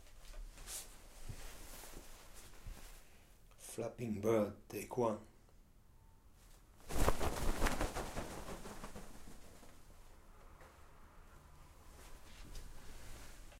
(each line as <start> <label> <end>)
6.8 flapping bird 9.9